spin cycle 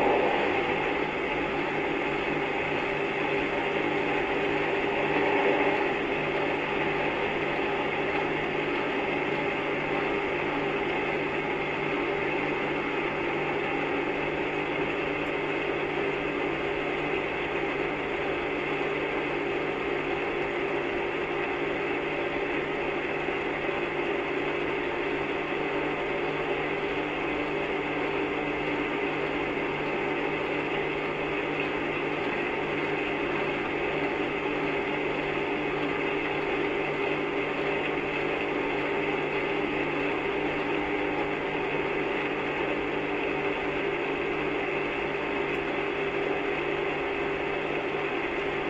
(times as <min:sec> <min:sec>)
0:00.0 0:10.2